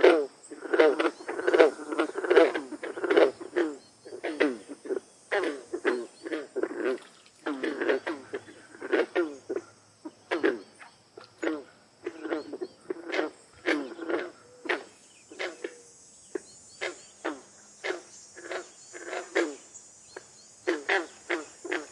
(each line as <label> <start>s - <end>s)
bullfrogs 0.0s - 21.9s
cicada 0.0s - 21.9s
crickets 0.0s - 21.9s